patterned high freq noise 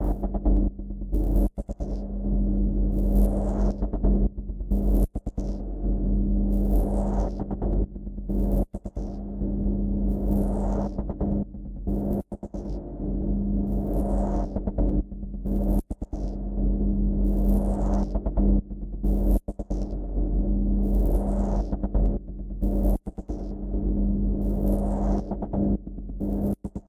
13.7s 14.8s, 22.6s 26.8s

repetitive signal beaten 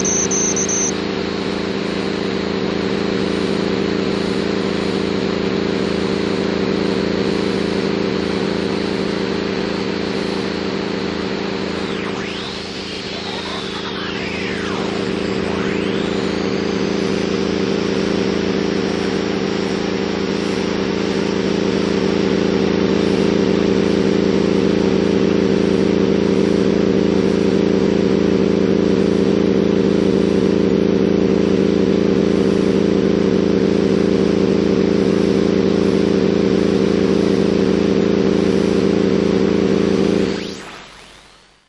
0.0s 1.0s, 11.6s 18.6s

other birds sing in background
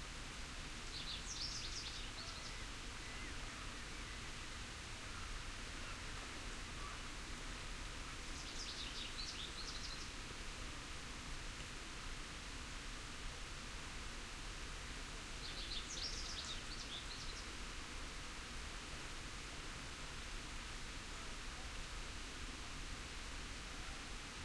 0.8s 6.1s, 8.2s 10.2s, 15.4s 17.6s

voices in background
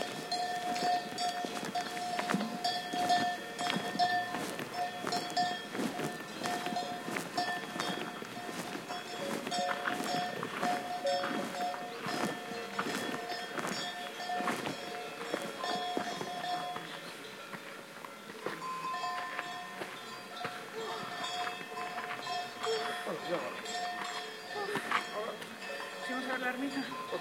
16.2s 27.2s

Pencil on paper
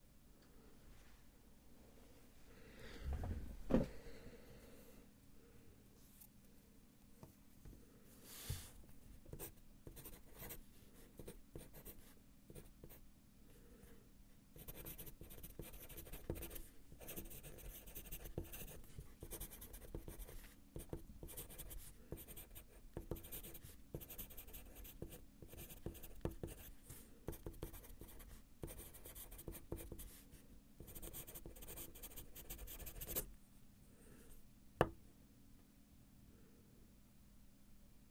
9.3s 13.0s, 14.6s 30.2s, 30.8s 33.3s

